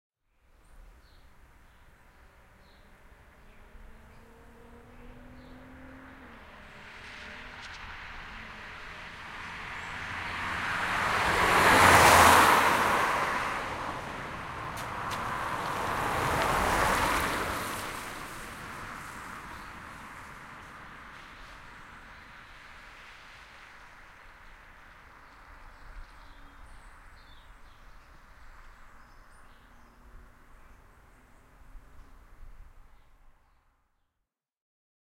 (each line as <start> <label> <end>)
2.0 Car Passing 33.1